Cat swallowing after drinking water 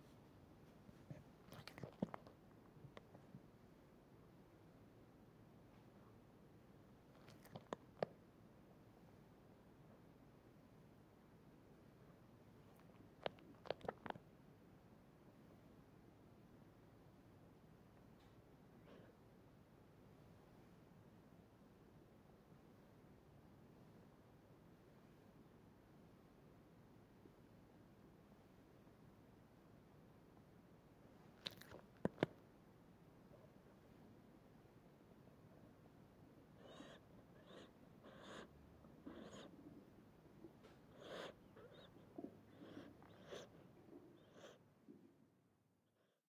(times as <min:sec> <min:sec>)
0:13.2 0:14.2